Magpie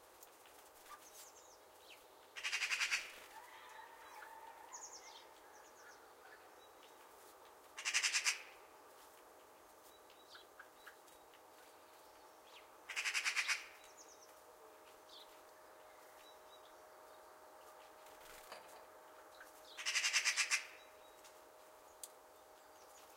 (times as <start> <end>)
7.8 8.6, 12.9 13.8, 19.8 20.8